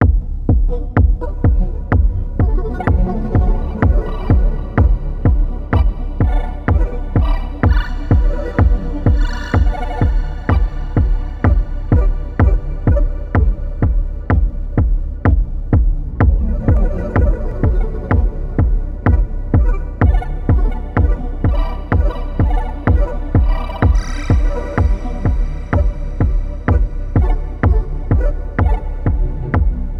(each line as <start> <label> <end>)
0.0 Drum loop 29.9